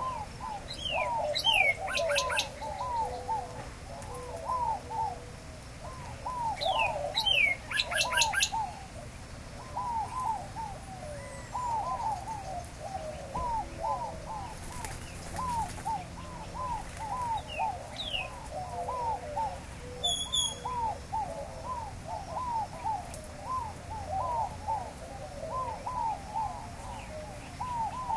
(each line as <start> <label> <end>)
0.0 Gambel's Quail 28.1
0.0 Great-tailed Grackle 28.1
0.0 Inca Dove 28.1
0.0 Mourning Dove 28.1
0.0 Northern Cardinal 28.1
0.0 White-winged Dove 28.1
5.8 Gila Woodpecker 8.9